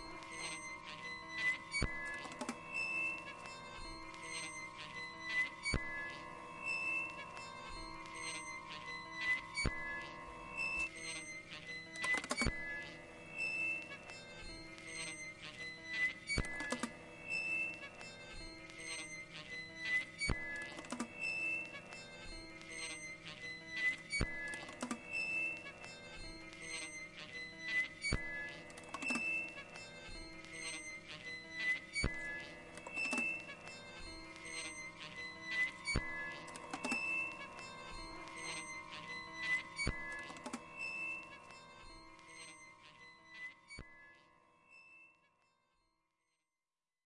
fingering a soprano sax 0:26.7 - 0:43.6

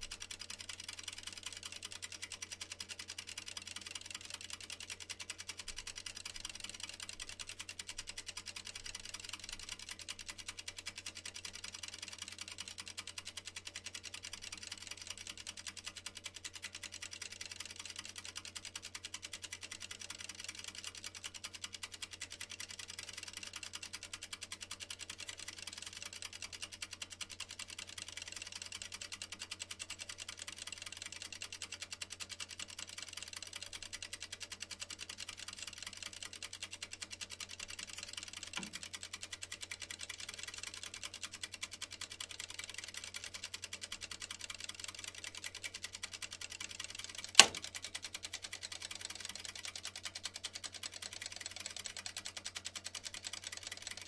mechanical timer 0:00.0 - 0:54.0
ticks 0:47.1 - 0:47.8
Loud clicks 0:47.2 - 0:47.7

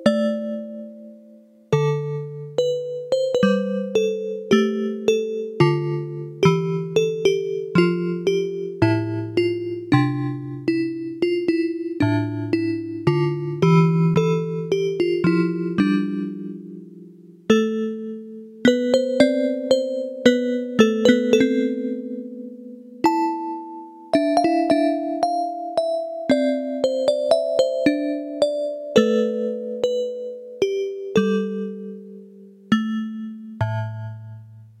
keyboard with built-in FM-synthesizer 0:00.0 - 0:34.8

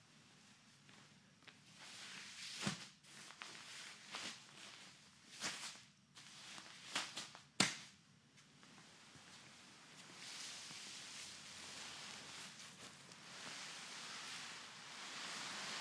dragged a cloth tarp with sandbags on it 0:10.1 - 0:15.8

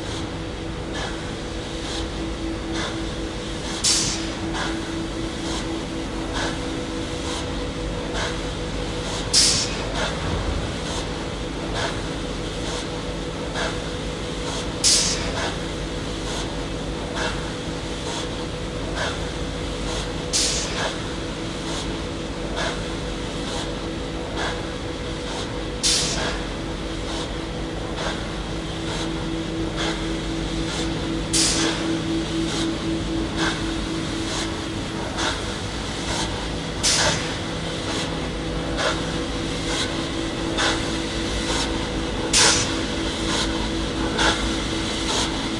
hydraulic pump 0:00.0 - 0:15.6
hydraulic pump 0:16.2 - 0:21.1
hydraulic pump 0:21.7 - 0:45.5

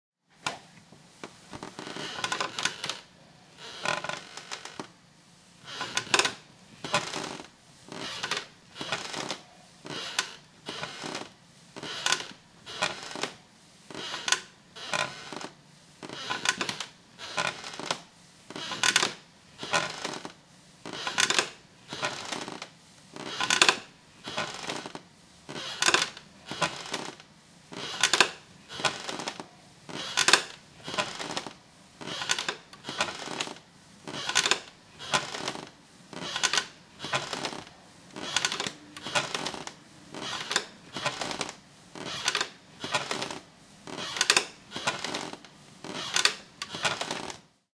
old rocking chair in movement on the wooden floor 0:01.5 - 0:04.9
old rocking chair in movement on the wooden floor 0:05.6 - 0:47.5

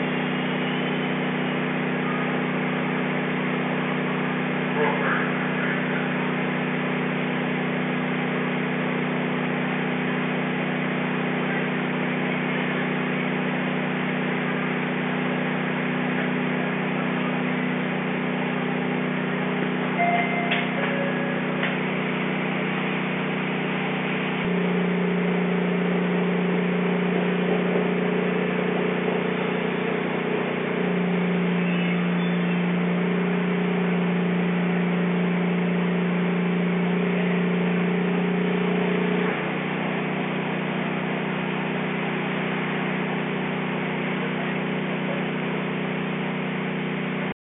Path train 0:19.8 - 0:21.9

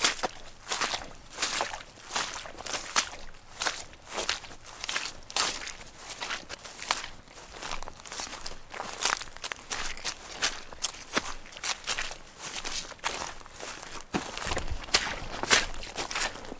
Footsteps Walking Boot Mud-Puddle 0:00.0 - 0:16.5
stream 0:00.0 - 0:16.5
twigs 0:04.2 - 0:16.5

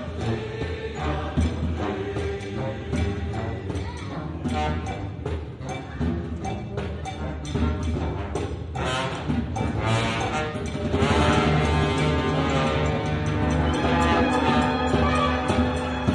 amateur musicians playing and singing on the street 0:00.0 - 0:05.0

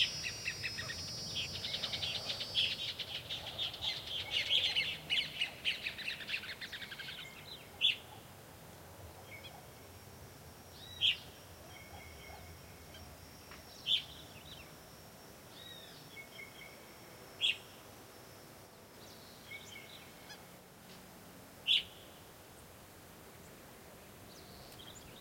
variety of birds 0:00.0 - 0:08.4
variety of birds 0:09.0 - 0:09.9
variety of birds 0:10.6 - 0:21.0
variety of birds 0:21.6 - 0:22.7
variety of birds 0:23.4 - 0:25.2

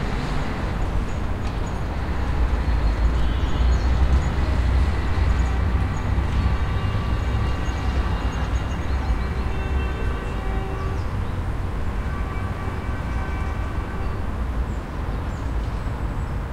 traffic 0:00.0 - 0:16.5
tram 0:00.0 - 0:16.5

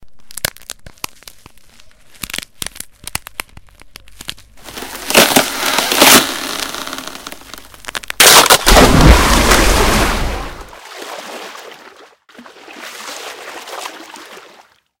thin ice cracking 0:00.0 - 0:10.2
falling in to a lake and splashing around 0:08.2 - 0:14.9

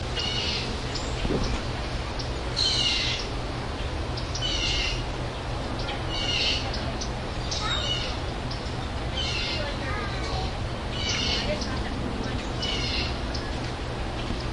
animals 0:05.8 - 0:13.6

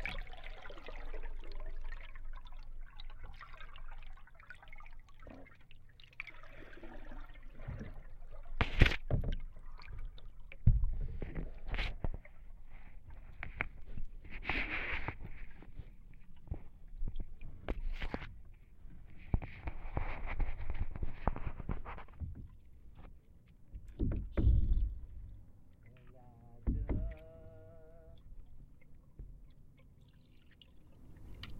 dripping 0:00.0 - 0:18.6
paddling 0:06.3 - 0:31.5
dripping 0:23.7 - 0:31.5
gurgling 0:26.0 - 0:28.3

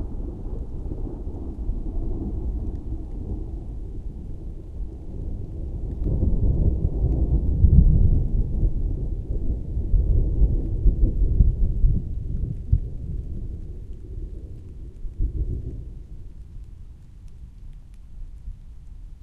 heavy thunder 0:00.0 - 0:13.9
rain 0:00.0 - 0:19.2

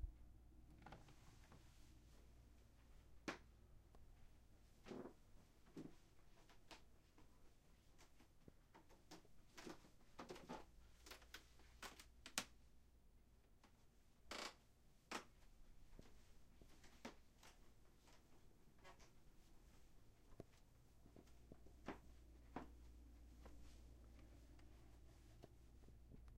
Creaky Woody Floor 0:14.3 - 0:15.3

